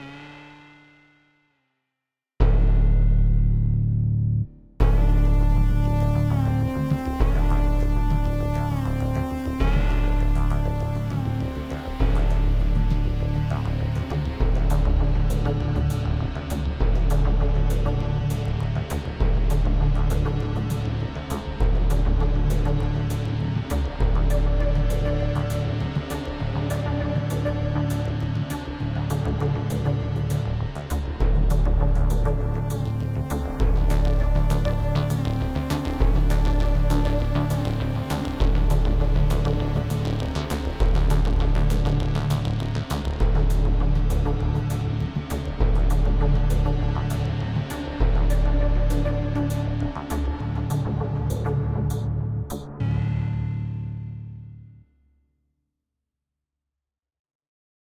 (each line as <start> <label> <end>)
52.8 synth 54.5